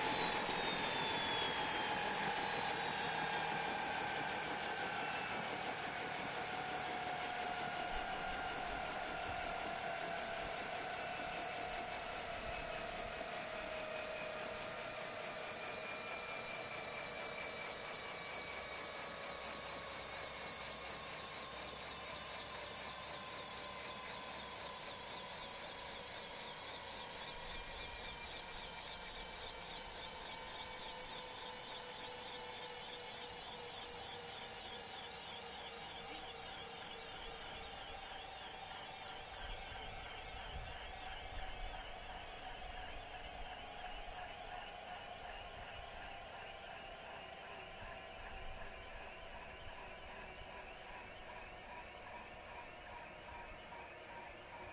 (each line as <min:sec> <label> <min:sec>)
0:00.0 Bell Jet Ranger Landing 0:10.8